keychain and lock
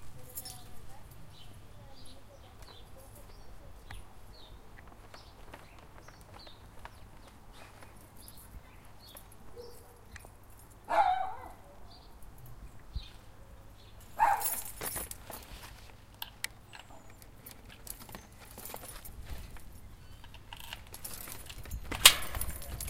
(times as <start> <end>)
14.1 15.4, 16.7 22.8